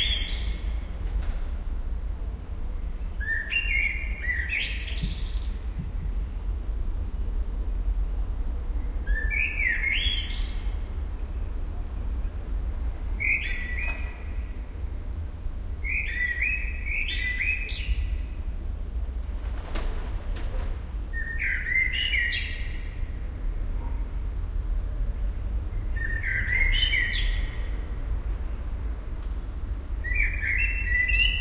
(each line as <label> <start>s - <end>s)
blackbirds 0.0s - 1.0s
blackbirds 2.9s - 6.6s
blackbirds 8.8s - 15.0s
blackbirds 15.8s - 18.4s
blackbirds 19.7s - 24.1s
blackbirds 25.6s - 28.7s
blackbirds 30.0s - 31.4s